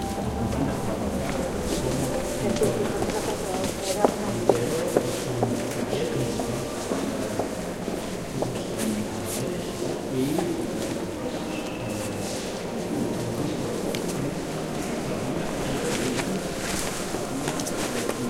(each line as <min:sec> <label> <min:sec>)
0:00.0 quiet talk 0:18.2